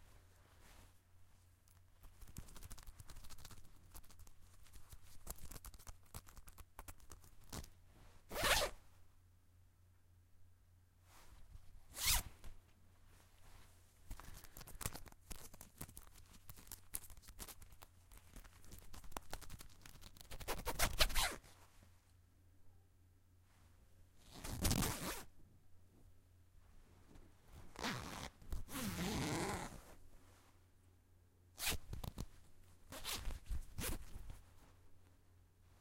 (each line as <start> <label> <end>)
0.0 cloth of the hoodie being rustled and rubbed 9.1
8.3 zipper on a hoodie being zipped 8.8
11.0 cloth of the hoodie being rustled and rubbed 22.1
12.0 zipper on a hoodie being zipped 12.3
20.4 zipper on a hoodie being zipped 21.4
23.4 cloth of the hoodie being rustled and rubbed 30.7
24.3 zipper on a hoodie being zipped 25.3
27.7 zipper on a hoodie being zipped 29.9
31.6 cloth of the hoodie being rustled and rubbed 35.8